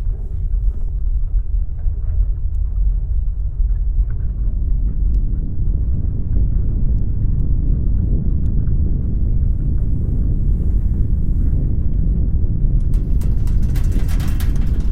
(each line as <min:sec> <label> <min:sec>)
0:00.0 Avalanche 0:14.9
0:00.0 Earthquake 0:14.9
0:12.9 rattling porcelain 0:14.9